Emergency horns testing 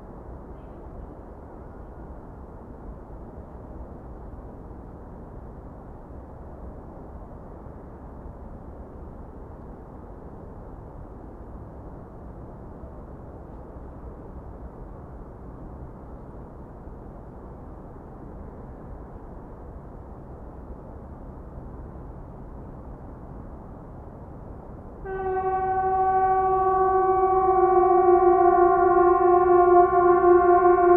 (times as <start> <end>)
25.1 30.9